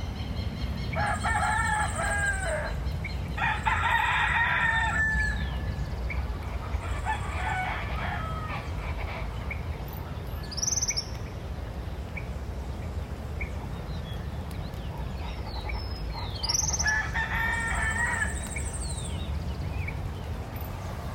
0.0s heavy traffic 21.1s
0.8s domestic animals 11.1s

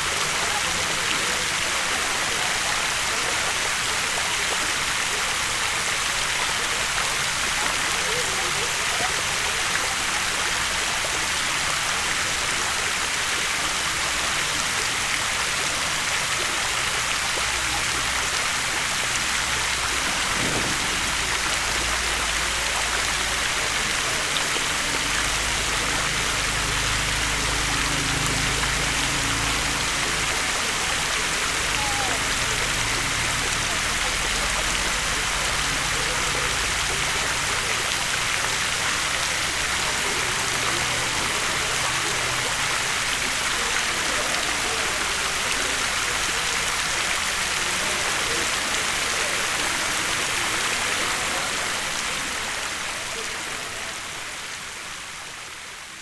0.0s chatter of a group of people 56.0s
0.0s constant noise of the fountain 56.0s

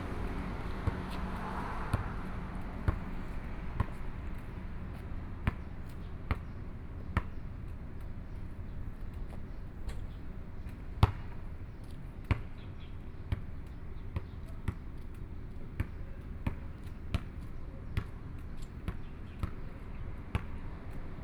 0.0s Traffic Sound 6.2s
0.0s Playing basketball 21.2s

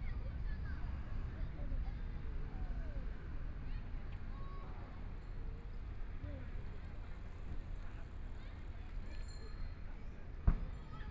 0.0s Environmental noise generated by distant airport 11.1s

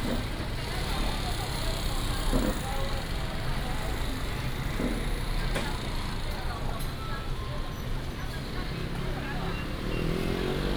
8.4s Traffic sound 10.7s

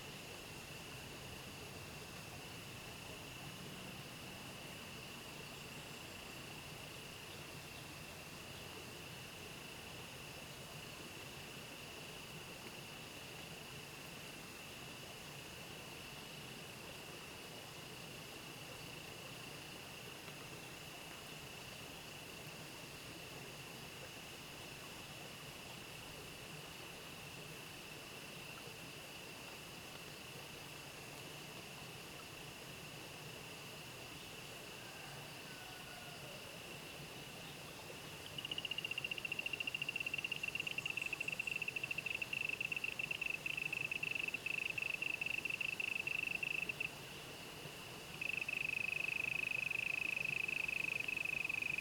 0.0s water streams 51.8s
32.2s Insect sounds 51.8s

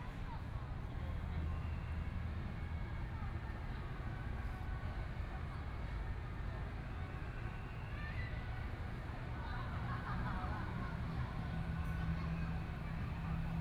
9.7s Traffic Sound 13.6s

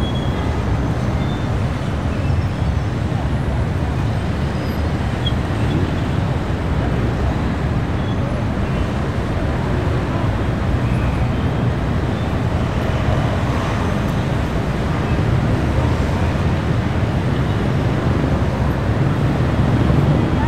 0.0s traffic 20.4s

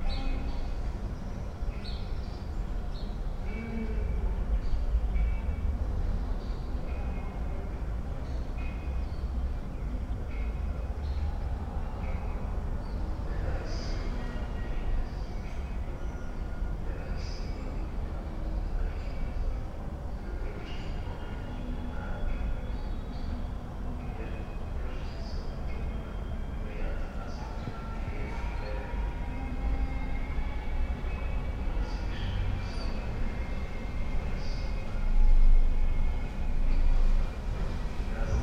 0.0s cars 38.4s

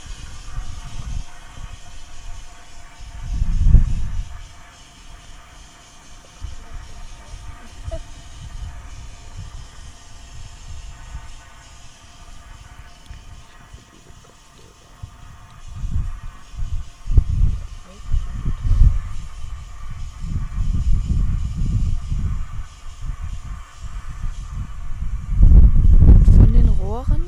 0.0s industrial pipes 27.2s

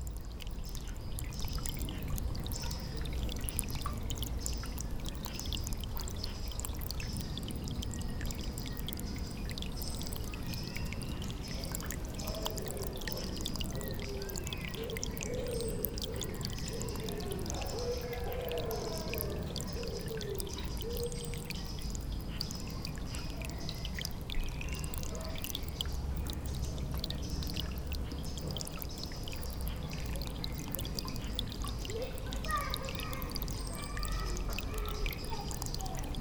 0.0s rill, giving water to the pond 36.2s
2.5s children playing 3.2s
22.6s children playing 25.5s
30.7s children playing 36.2s

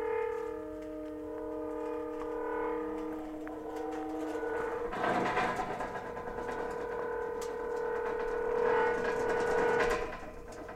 0.0s wind 10.7s
0.2s rusty gate 10.7s

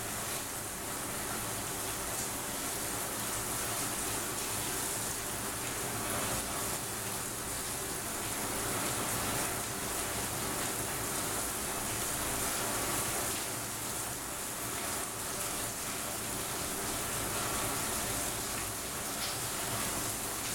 0.0s rain 20.5s

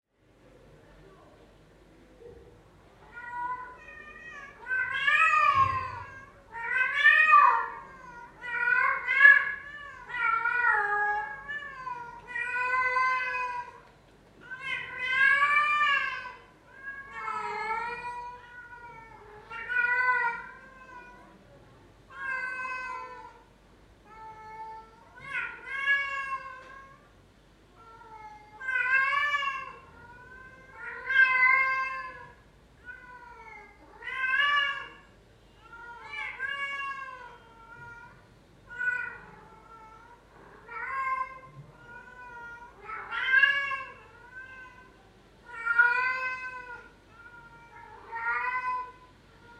3.1s Cats wailing 13.8s
14.4s Cats wailing 21.3s
22.1s Cats wailing 23.4s
24.1s Cats wailing 27.0s
27.8s Cats wailing 49.5s

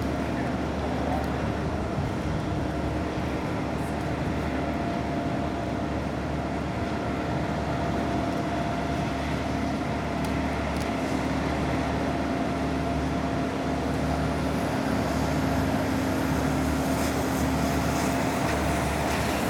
0.0s drops of water reverberated of the terminal walls 19.4s
0.0s hum of all the different machinery and vehicles operating on the runway 19.4s

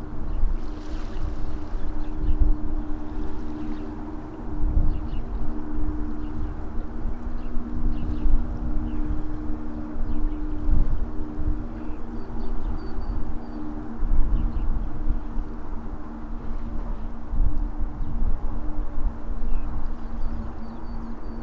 0.0s bridge sings with the wind 21.4s

